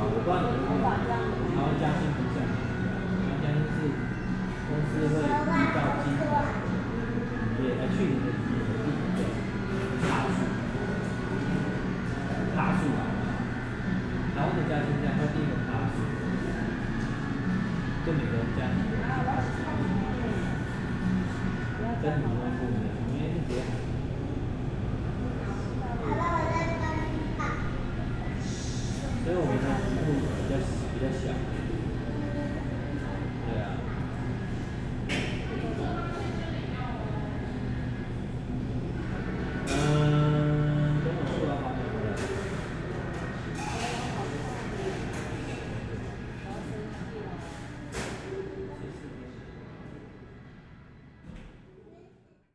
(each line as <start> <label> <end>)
0.0 Western music plays over the shop's speakers 25.8
37.5 Western music plays over the shop's speakers 46.4